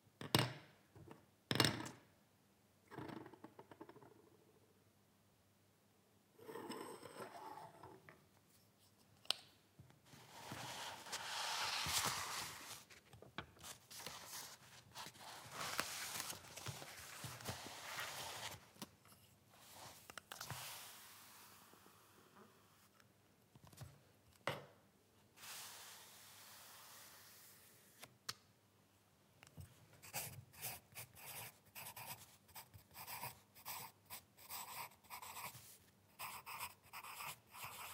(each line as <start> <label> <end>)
10.1 moving the paper 13.0
30.0 Writing on paper using a lead pencil 37.9